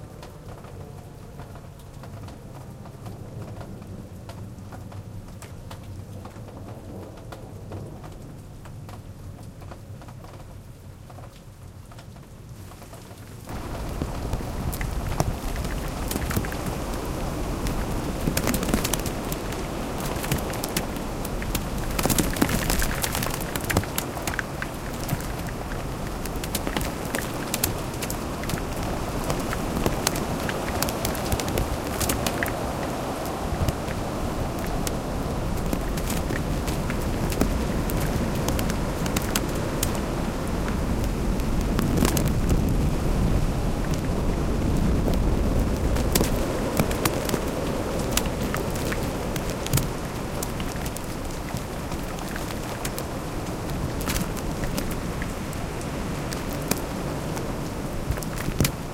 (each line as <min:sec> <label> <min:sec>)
0:00.0 rain 0:58.9
0:00.0 wind 0:58.9
0:12.1 hail 0:58.9